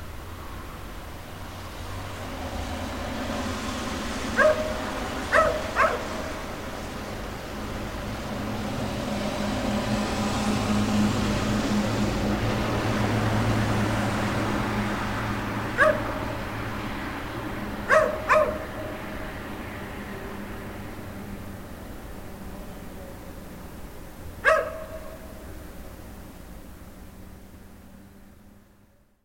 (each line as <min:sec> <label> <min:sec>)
0:04.3 Stray dog 0:06.4
0:15.7 Stray dog 0:16.4
0:17.8 Stray dog 0:19.0
0:24.4 Stray dog 0:25.4